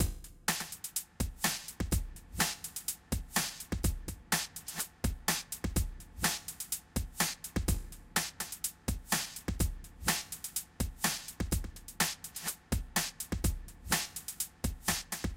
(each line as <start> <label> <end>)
0.0 Glitchy old-school beat 15.3